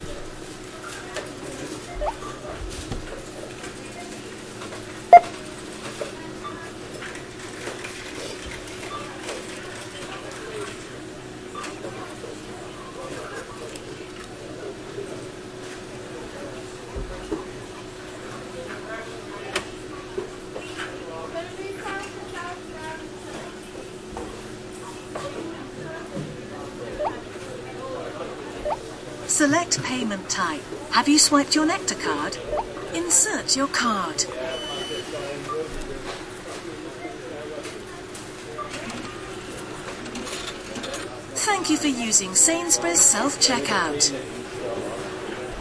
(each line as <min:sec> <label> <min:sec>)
0:00.2 self service machine 0:16.8
0:22.0 self service machine 0:45.5